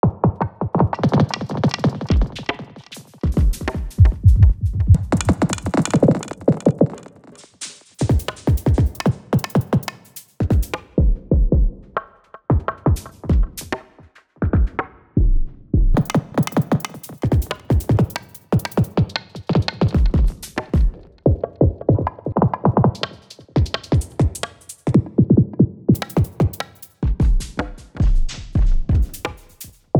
Atonal Drum Rambling Down on the Stairs 3.3 - 7.2

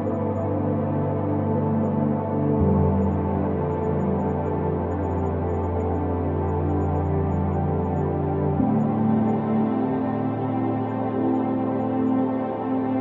piano 0.0 - 13.0

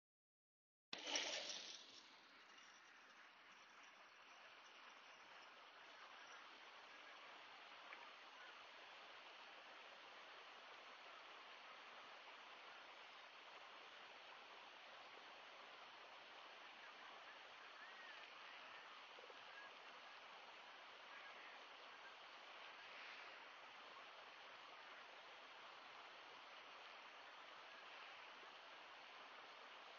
crickets 1.3 - 14.4

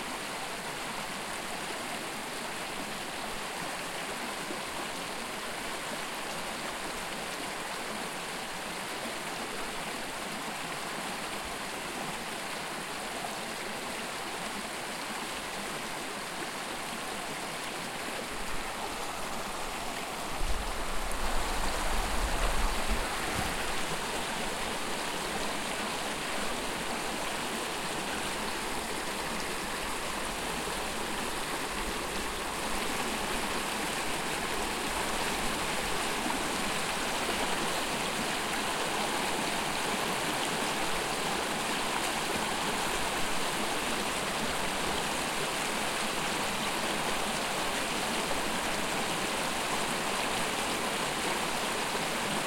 stream flowing 0.0 - 52.4

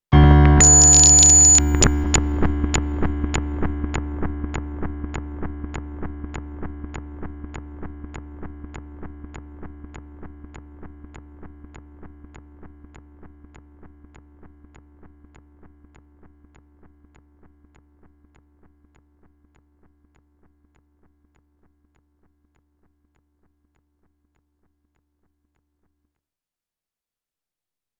electric piano with tone D going crazy glitching 0.4 - 2.3

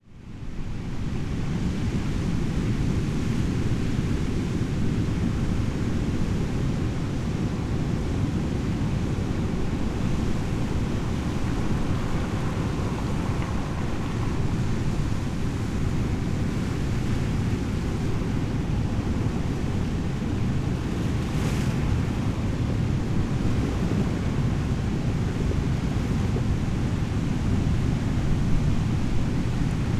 Waves roar in the distance and break against the shore 0.0 - 29.9
waves move pebbles 9.4 - 22.4

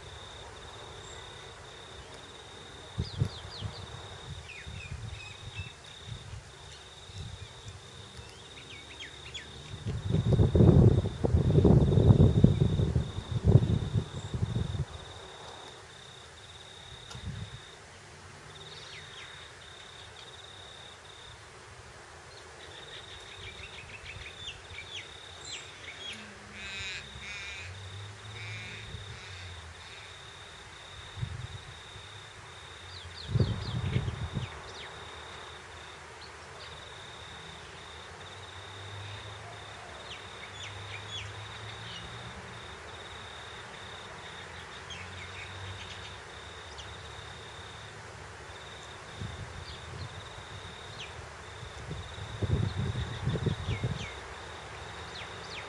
birds 0.0 - 9.9
crickets 0.0 - 55.6
distant traffic 0.0 - 55.6
wind noise 2.7 - 7.8
wind noise 9.5 - 15.5
wind noise 16.9 - 17.7
birds 22.3 - 30.4
wind noise 30.8 - 32.2
wind noise 32.8 - 34.9
birds 36.1 - 42.3
birds 43.7 - 47.3
wind noise 48.7 - 54.4

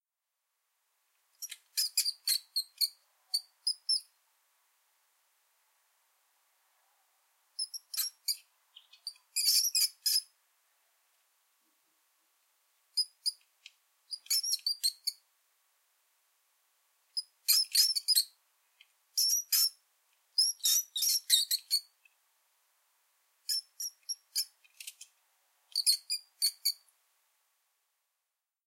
Mouse Squeaks 1.4 - 4.1
Mouse Squeaks 7.6 - 10.3
Mouse Squeaks 13.0 - 13.4
Mouse Squeaks 14.1 - 15.2
Mouse Squeaks 17.2 - 18.4
Mouse Squeaks 19.2 - 19.8
Mouse Squeaks 20.4 - 21.9
Mouse Squeaks 23.5 - 25.0
Mouse Squeaks 25.7 - 26.8

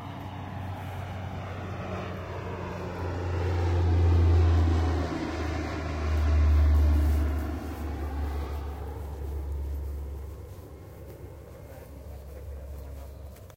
airplane passing by 0.0 - 13.5

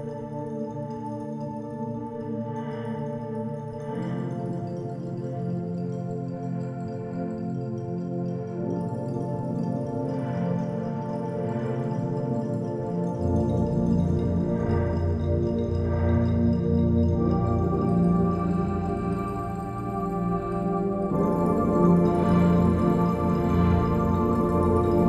synth 13.0 - 25.0

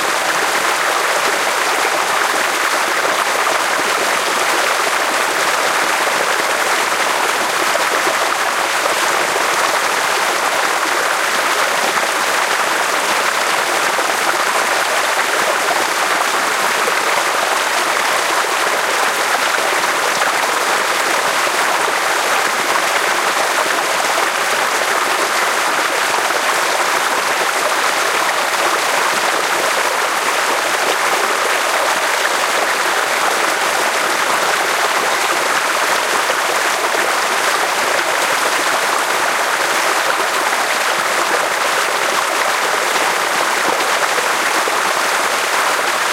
flowing water 0.0 - 46.1

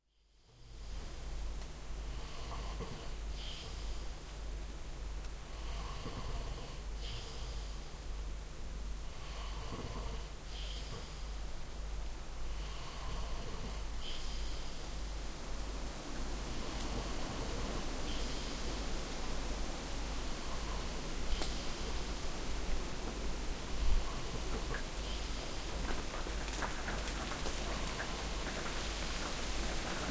rain on the roof of the cottage 0.7 - 2.2
breath 2.2 - 4.2
rain on the roof of the cottage 3.1 - 5.5
breath 5.5 - 7.9
breath 9.2 - 11.4
breath 12.5 - 15.0
rain on the roof of the cottage 13.8 - 30.1
wind is moving the trees 13.8 - 30.1
Drips of water fall out of the trees on the roof 25.5 - 30.1

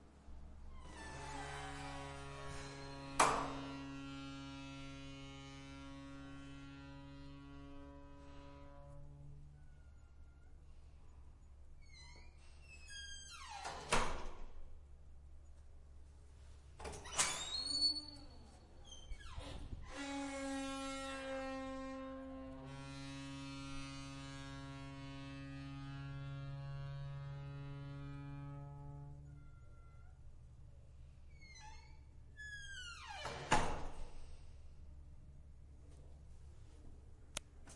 squeaky, metal door closing 11.8 - 14.4
squeaky, metal door closing 16.8 - 21.6
squeaky, metal door closing 31.4 - 34.2

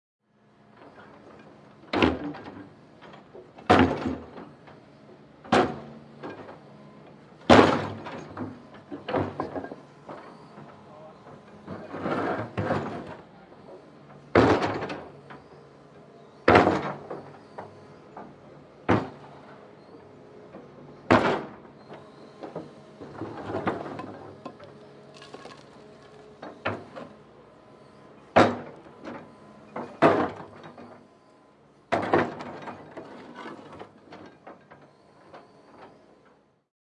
Digger smashing concrete 23.2 - 26.2

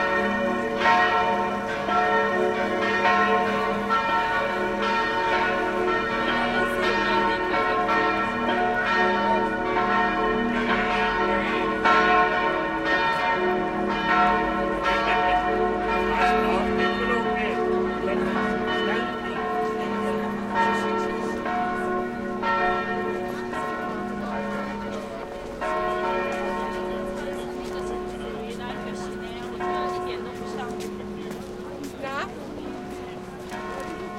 bells 0.0 - 34.1
people 15.1 - 34.1

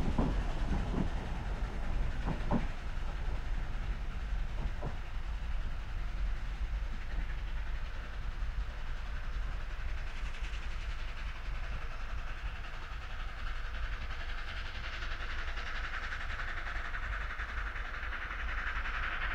narrow-gauge steam train (Blanche) powering uphill 0.0 - 19.3

